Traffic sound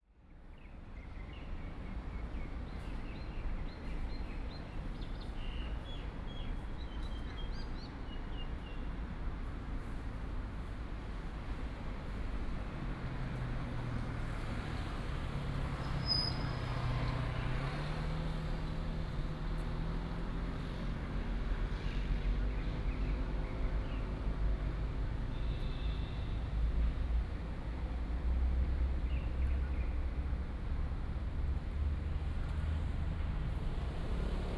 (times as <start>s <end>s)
8.5s 34.5s